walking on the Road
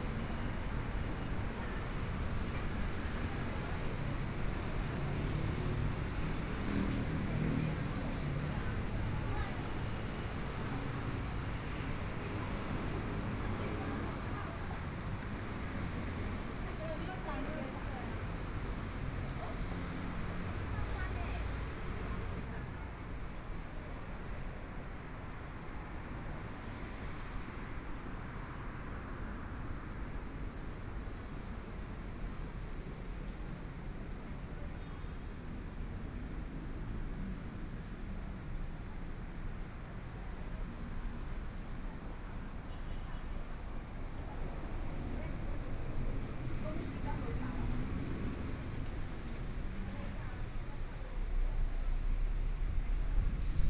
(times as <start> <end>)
1.8 23.3, 37.3 53.6